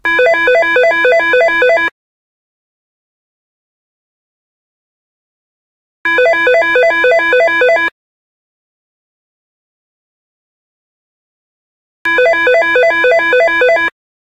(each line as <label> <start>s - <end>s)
telephone ringing 0.0s - 1.9s
telephone ringing 6.1s - 8.0s
telephone ringing 12.1s - 14.0s